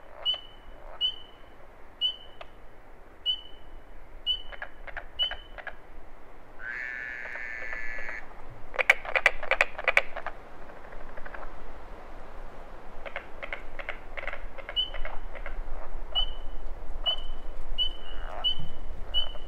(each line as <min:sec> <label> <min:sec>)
0:00.0 Carpenter Frogs 0:02.6
0:00.0 Southern Leopard Frogs 0:02.6
0:00.0 Pine Barrens Tree Frogs 0:05.9
0:00.0 piney wind 0:19.4
0:00.1 Spring Peepers 0:02.6
0:03.2 Spring Peepers 0:05.8
0:04.2 Southern Leopard Frogs 0:05.8
0:04.3 Carpenter Frogs 0:05.8
0:06.5 Pine Barrens Tree Frogs 0:11.6
0:06.6 Southern Leopard Frogs 0:11.6
0:06.6 Fowler's Toads 0:08.2
0:06.6 Carpenter Frogs 0:11.5
0:13.0 Pine Barrens Tree Frogs 0:16.4
0:13.0 Southern Leopard Frogs 0:16.4
0:13.0 Carpenter Frogs 0:16.3
0:17.0 Pine Barrens Tree Frogs 0:19.4
0:17.0 Southern Leopard Frogs 0:19.4